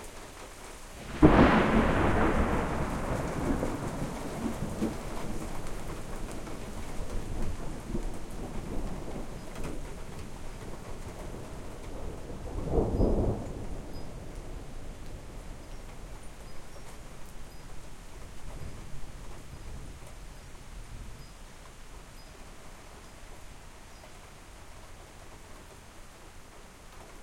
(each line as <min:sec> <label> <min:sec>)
0:01.1 single, powerful clap of thunder 0:06.5